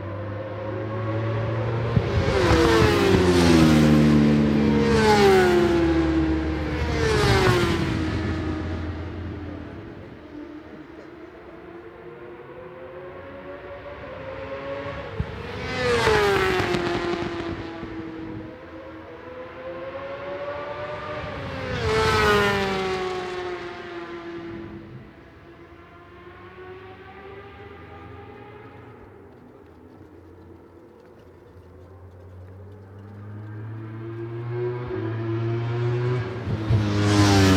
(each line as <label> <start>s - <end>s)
supersports 600s 0.0s - 37.5s